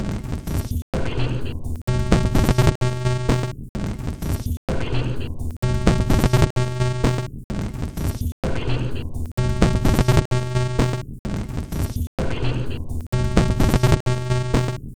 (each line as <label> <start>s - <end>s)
Glitch Loop 1.2s - 3.5s
Glitch Loop 4.7s - 7.3s
Glitch Loop 8.7s - 11.0s
Glitch Loop 12.4s - 14.8s